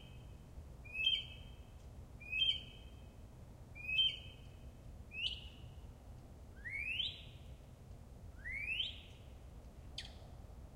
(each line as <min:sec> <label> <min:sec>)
0:00.9 mockingbird singing 0:01.5
0:02.3 mockingbird singing 0:02.8
0:03.8 mockingbird singing 0:04.4
0:05.1 mockingbird singing 0:05.6